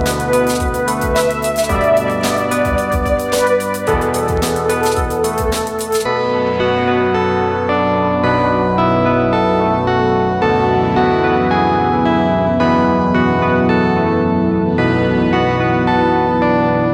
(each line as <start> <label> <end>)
0.0 musical loop 6.1